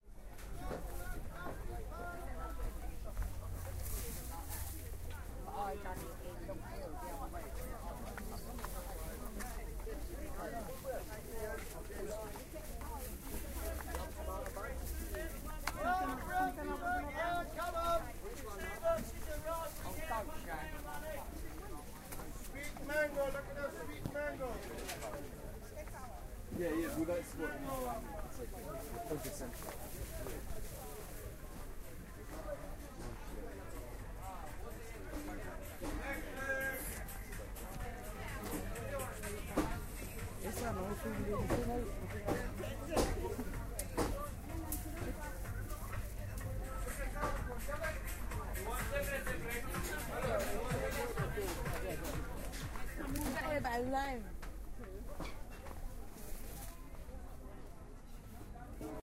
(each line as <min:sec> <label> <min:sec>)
0:00.0 Bustle of Ridley Road Market 0:59.0
0:00.1 market traders 0:57.3